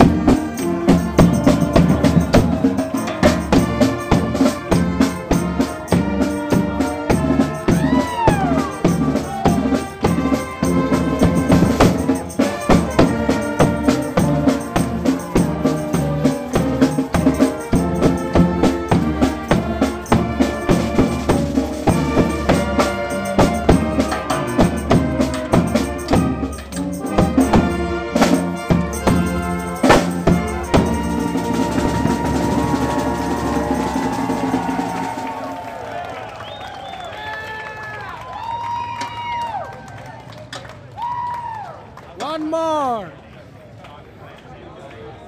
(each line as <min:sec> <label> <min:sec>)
0:00.0 performed in San Francisco by marching band 0:43.1